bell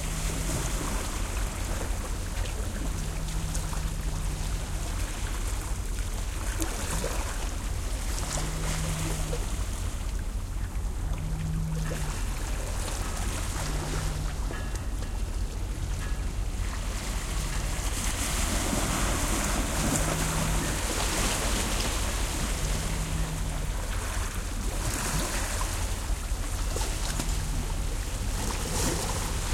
13.9s 17.6s

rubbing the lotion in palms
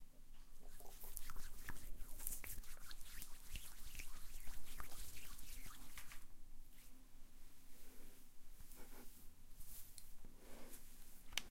0.6s 6.9s

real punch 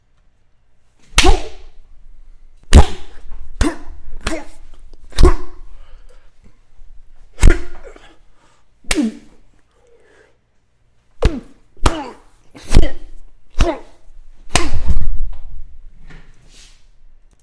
1.2s 1.8s, 2.7s 5.7s, 7.4s 7.9s, 11.2s 12.1s, 14.5s 15.2s

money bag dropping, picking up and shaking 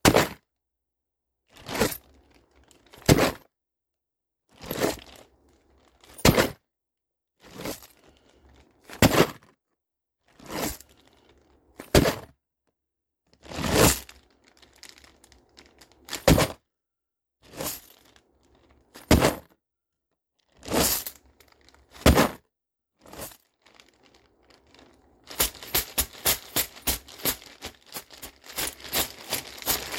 16.1s 16.6s, 19.0s 19.4s, 22.0s 22.4s, 25.2s 29.9s

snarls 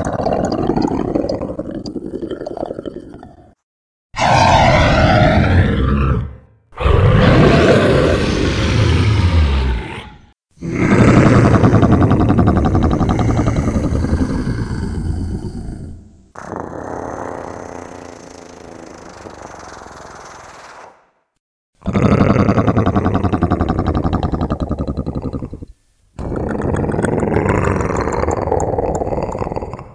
4.2s 17.6s, 21.8s 29.9s

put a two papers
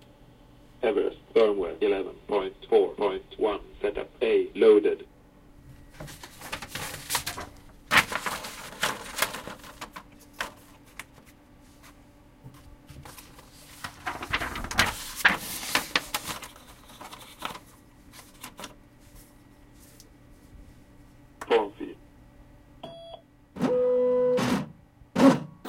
5.9s 18.8s

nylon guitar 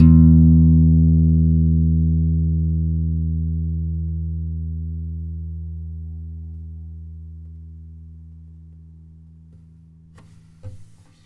0.0s 7.8s

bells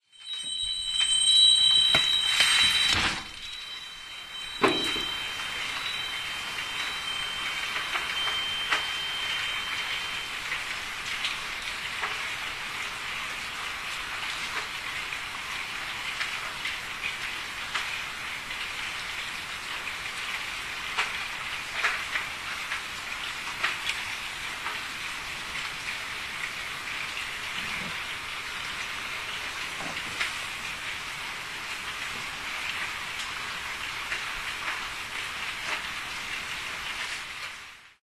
0.0s 14.0s

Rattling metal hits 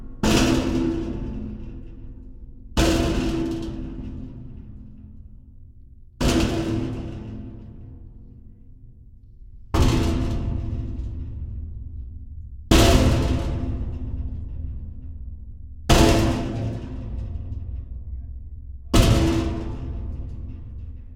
0.0s 5.2s, 9.6s 21.1s

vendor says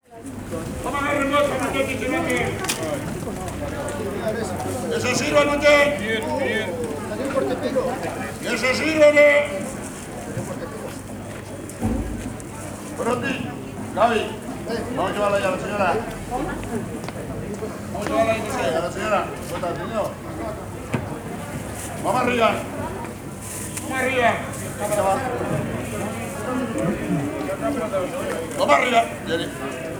0.1s 9.8s

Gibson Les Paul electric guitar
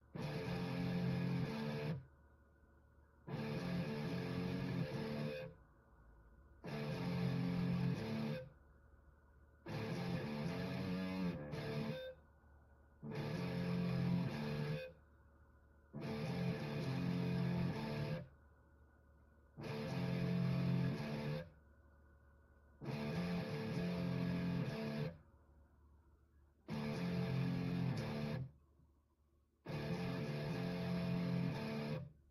0.2s 2.0s, 3.3s 5.5s, 6.6s 8.5s, 9.7s 12.1s, 13.0s 14.9s, 16.0s 18.2s, 19.6s 21.4s, 22.8s 25.2s, 26.7s 28.5s, 29.7s 32.1s

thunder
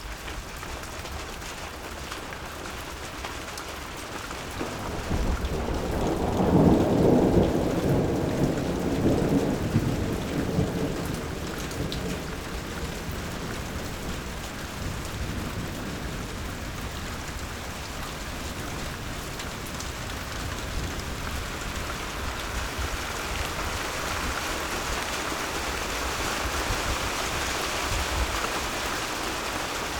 4.6s 13.7s

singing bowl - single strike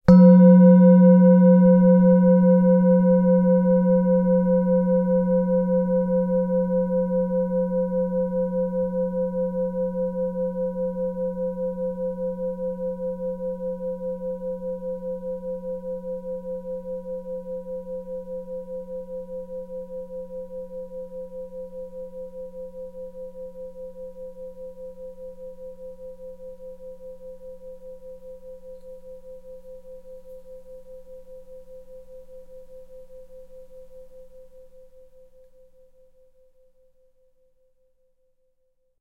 0.1s 4.0s

